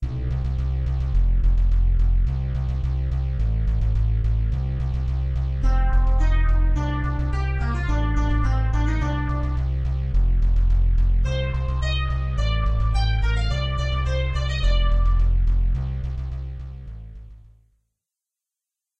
bass&lead tune 0:00.0 - 0:17.5

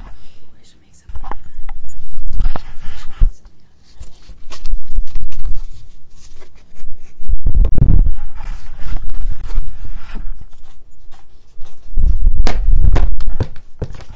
notebook 0:01.2 - 0:14.1
hitting the floor 0:12.3 - 0:14.1

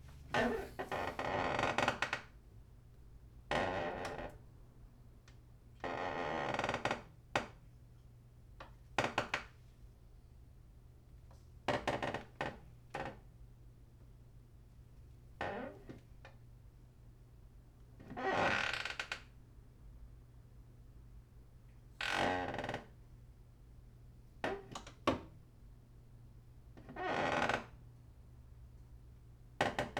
squeaking of rotating desk chair 0:00.1 - 0:02.1

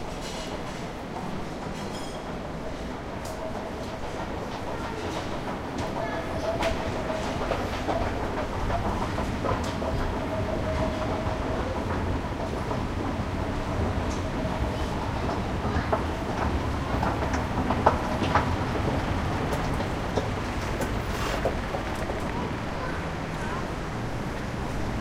people 0:22.0 - 0:23.8

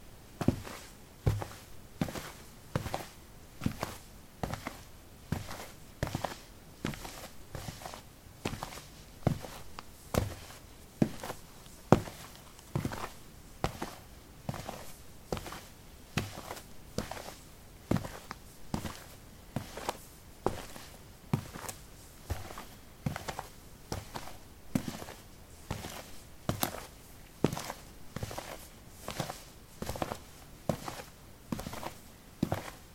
soil 13a sportshoes walk 0:00.0 - 0:32.9

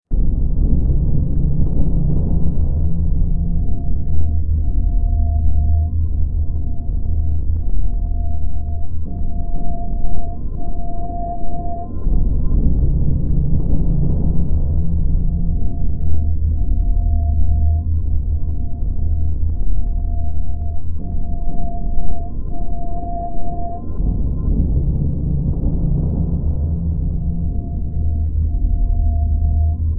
Drone 0:00.1 - 0:29.9

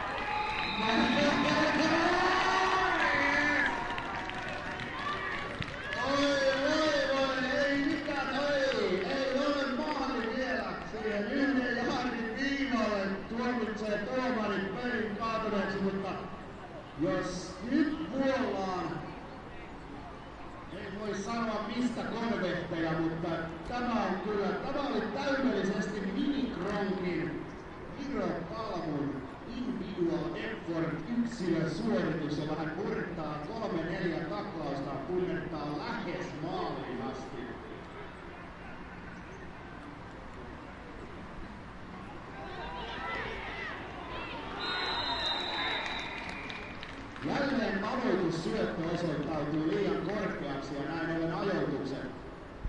Audience shouting and cheering 0:00.0 - 0:06.7
referee blowing in the whistle 0:00.3 - 0:02.0
commentator talking 0:00.7 - 0:03.6
commentator talking 0:06.0 - 0:16.3
commentator talking 0:17.0 - 0:19.1
referee blowing in the whistle 0:44.5 - 0:46.8
commentator talking 0:47.2 - 0:52.2

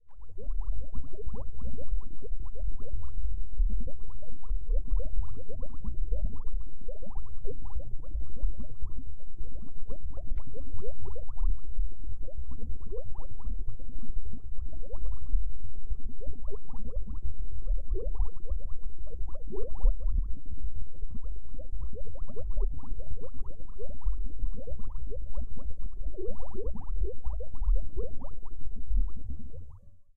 Bubbling 0:00.2 - 0:29.8

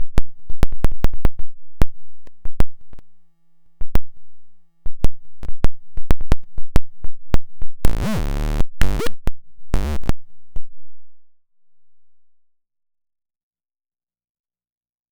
Optical Theremin 0:07.9 - 0:09.1

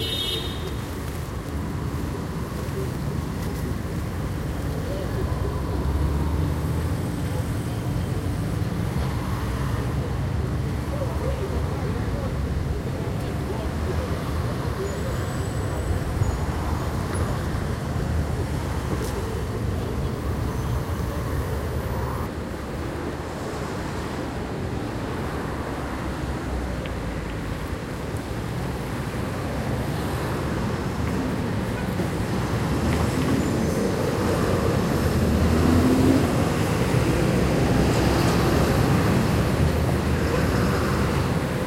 traffic 0:00.0 - 0:41.6

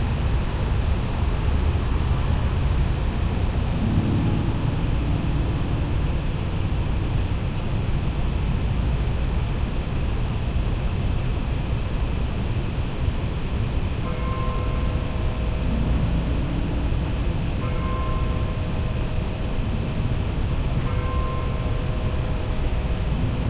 cicadas 0:00.0 - 0:23.4
crickets 0:00.0 - 0:23.4
acoustic guitar strumming 0:03.7 - 0:07.7

